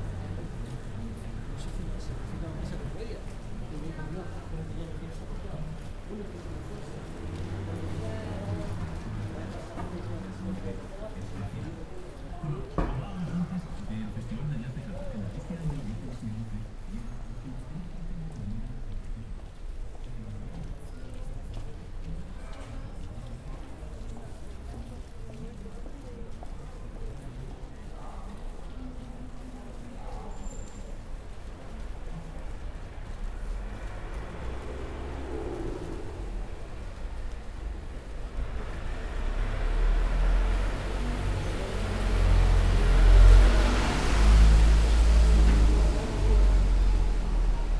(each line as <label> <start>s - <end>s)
walking the streets 0.0s - 47.7s